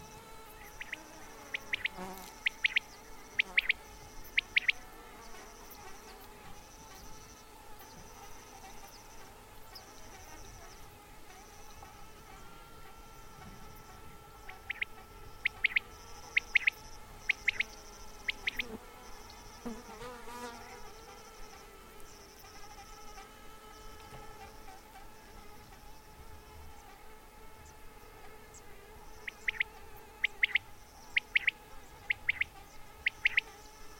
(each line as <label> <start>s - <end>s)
Sandwasps 0.0s - 33.9s
cicadas 0.0s - 33.9s
Quail callings 0.6s - 4.9s
Quail callings 14.5s - 18.7s
Quail callings 29.2s - 33.5s